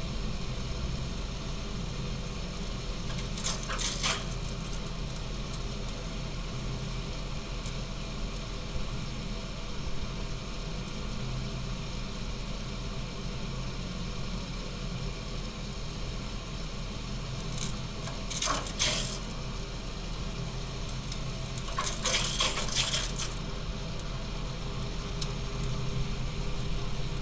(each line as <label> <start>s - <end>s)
water heater rumble 2.2s - 6.8s
water heater rumble 16.4s - 27.2s